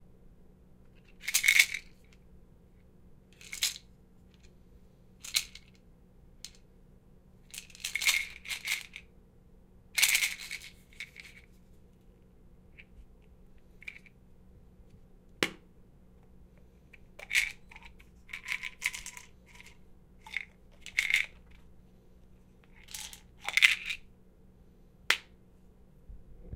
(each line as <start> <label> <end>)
0.9 Shaking and opening a pill bottle 2.2
3.4 Shaking and opening a pill bottle 4.6
5.2 Shaking and opening a pill bottle 5.8
7.5 Shaking and opening a pill bottle 9.1
10.0 Shaking and opening a pill bottle 11.6
13.6 Shaking and opening a pill bottle 14.2
16.9 Shaking and opening a pill bottle 21.7
22.6 Shaking and opening a pill bottle 24.1